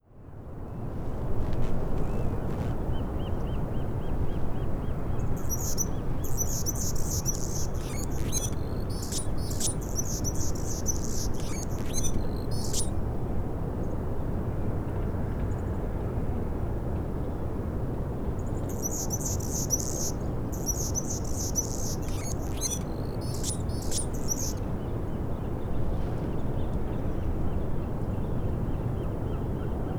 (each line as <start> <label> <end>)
5.2 Hummingbird song 13.0
18.7 Hummingbird song 24.6